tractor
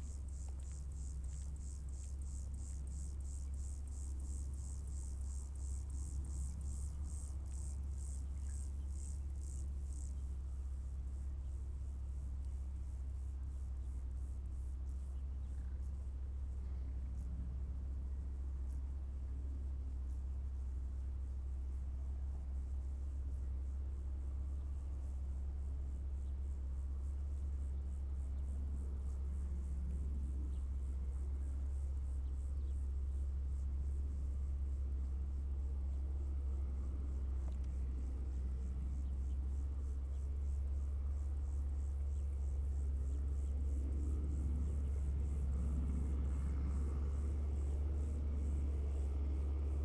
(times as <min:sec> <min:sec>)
0:26.7 0:49.8